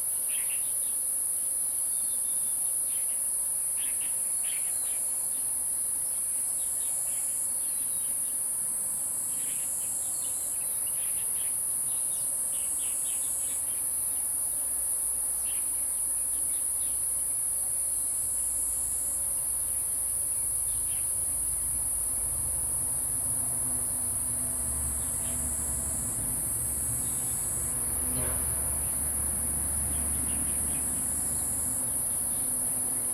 Insect sounds 0:00.0 - 0:33.1

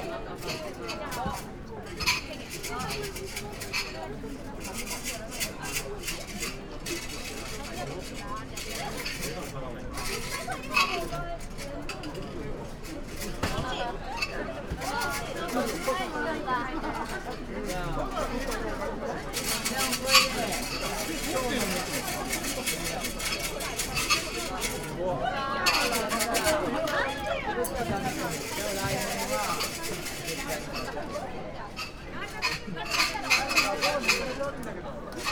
wooden sticks oracle 0:19.4 - 0:24.9

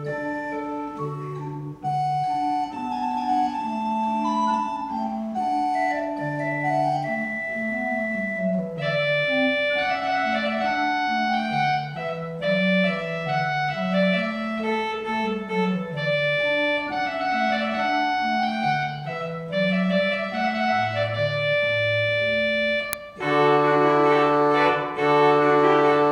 church organ 0:00.0 - 0:26.1

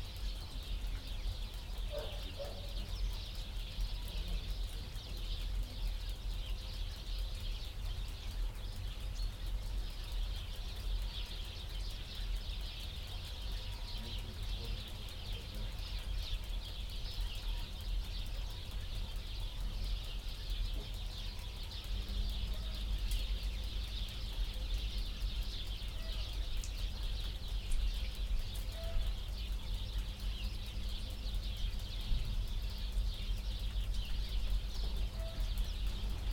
wolves are hauling 0:01.9 - 0:02.9

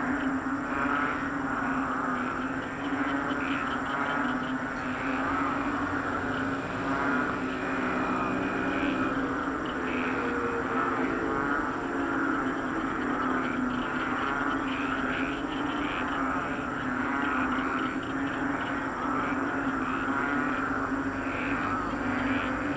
frogs in the field 0:00.0 - 0:22.7
cars 0:00.3 - 0:22.7
motorcycles 0:00.9 - 0:22.7
tricycles 0:04.6 - 0:12.7

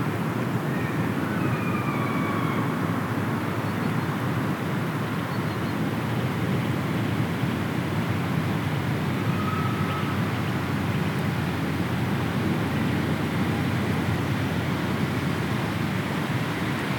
Subtle bird sounds in the distance 0:05.3 - 0:05.8

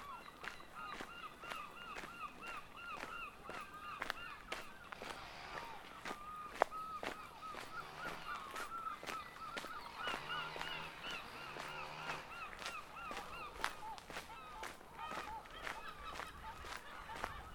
birds 0:00.0 - 0:17.5
walking 0:00.0 - 0:17.5
light aircraft 0:04.6 - 0:13.8
bicycles 0:04.8 - 0:17.5

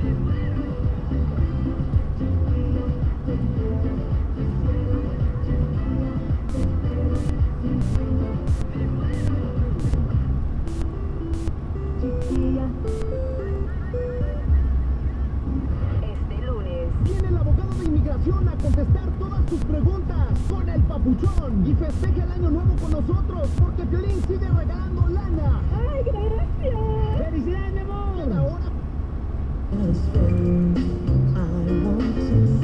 radio scan on the road 0:06.4 - 0:28.9

